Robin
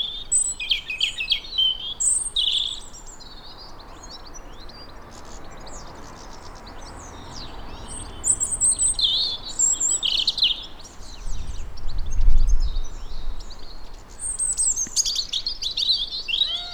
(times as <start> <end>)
14.1 16.7